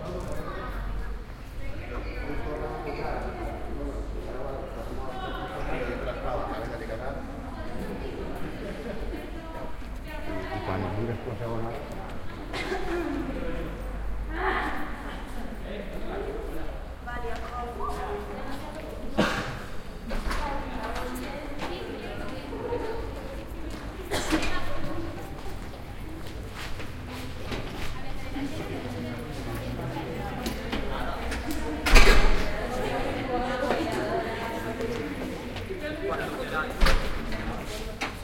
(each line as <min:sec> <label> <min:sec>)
0:00.0 young people walking, running, whispering, shouting 0:19.2
0:19.8 young people walking, running, whispering, shouting 0:31.8
0:31.8 opening a door 0:32.6
0:32.5 young people walking, running, whispering, shouting 0:38.2
0:36.8 opening a door 0:37.4